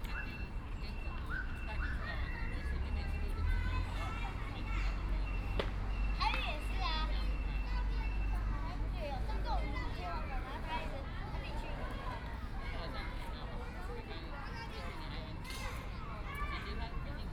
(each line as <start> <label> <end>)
0.0 Traffic Sound 17.3
0.0 Kids and parents 17.3